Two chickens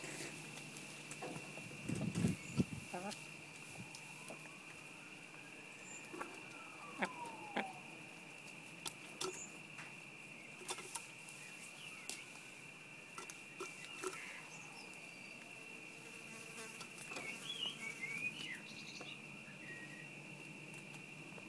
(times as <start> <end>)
0.0 15.8